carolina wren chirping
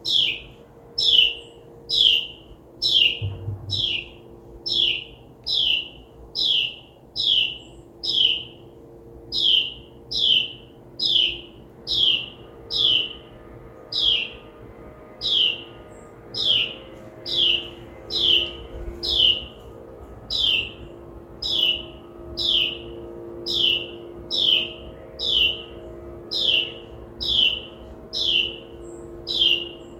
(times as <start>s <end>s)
0.0s 8.6s, 9.3s 13.3s, 13.9s 14.4s, 20.3s 20.8s, 21.4s 29.9s